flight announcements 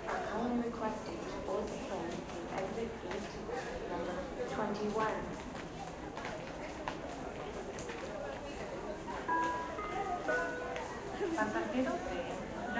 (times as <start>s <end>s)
9.1s 12.7s